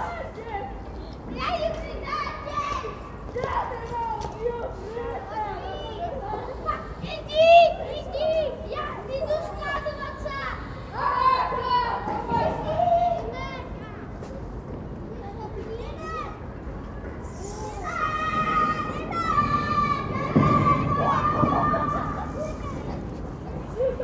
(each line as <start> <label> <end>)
17.2 children exploring the possibilities 24.0